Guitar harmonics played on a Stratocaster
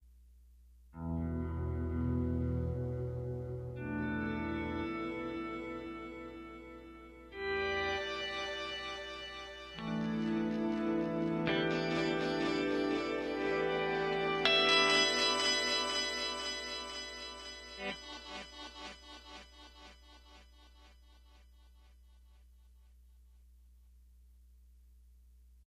0:01.0 0:20.0

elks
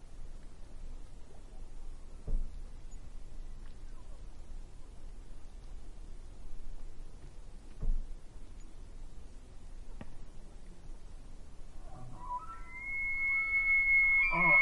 0:11.8 0:14.6

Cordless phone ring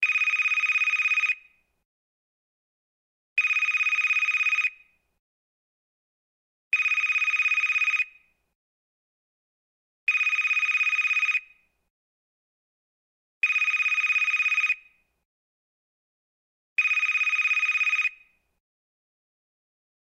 0:00.0 0:01.5, 0:03.4 0:04.9, 0:06.8 0:08.3, 0:10.1 0:11.6, 0:13.4 0:15.0, 0:16.8 0:18.4

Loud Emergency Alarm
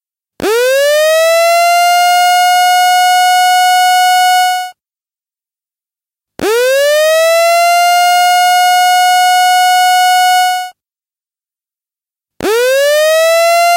0:00.5 0:04.7, 0:06.4 0:10.7, 0:12.4 0:13.7

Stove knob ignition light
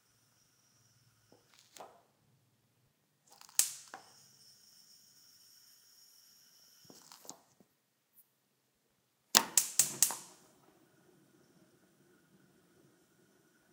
0:09.4 0:10.4

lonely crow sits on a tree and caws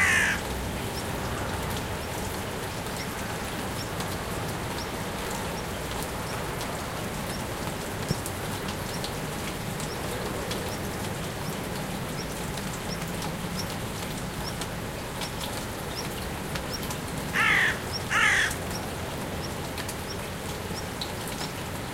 0:00.0 0:01.2, 0:17.2 0:19.1

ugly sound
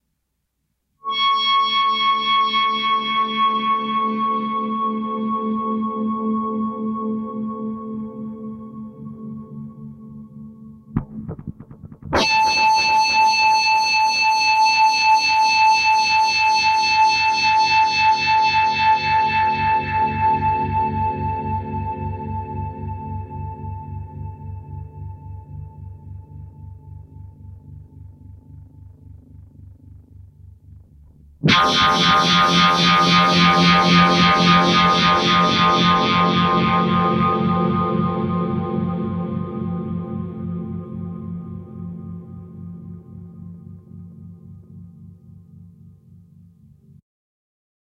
0:11.0 0:13.3

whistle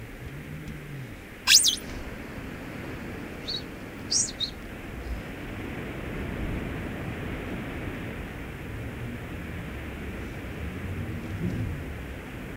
0:01.5 0:01.8, 0:03.5 0:04.5

